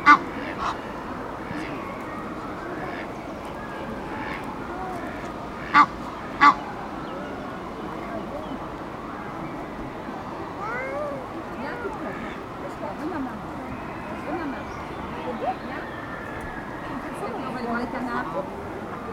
emden goose 0.0 - 7.3
egyptian gooses on a pontoon 0.0 - 19.1
two young children 4.6 - 5.4
two young children 10.5 - 12.2

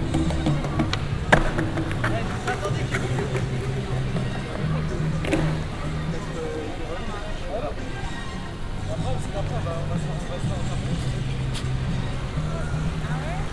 watching crowd 0.0 - 13.5

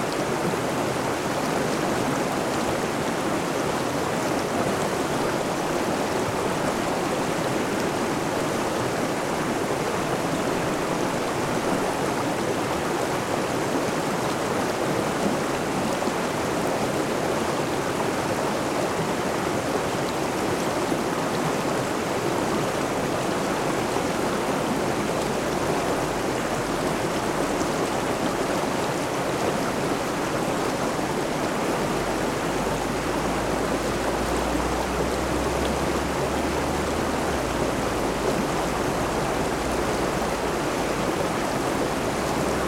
Waterfall 0.0 - 42.6

